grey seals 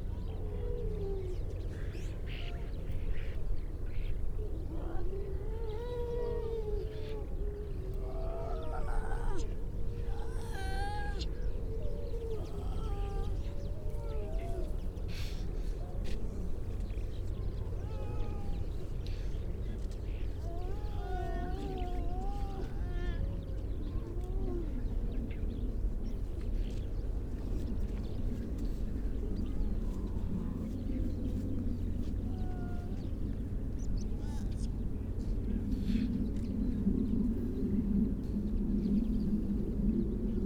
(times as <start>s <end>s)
4.4s 25.1s